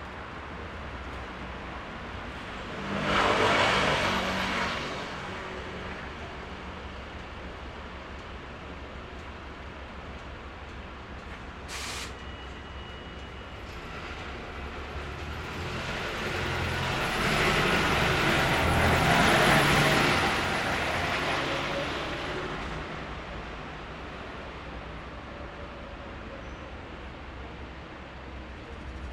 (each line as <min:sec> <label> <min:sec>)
0:00.0 vehicles 0:29.1